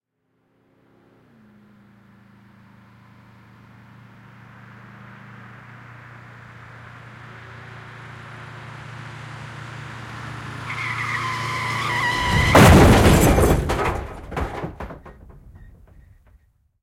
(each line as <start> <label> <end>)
0.3 cars approaching 16.0
9.8 brakes 16.4
11.2 Car crash, head-on collision 16.2
11.9 metal banging 16.4
12.0 glass breaking 15.6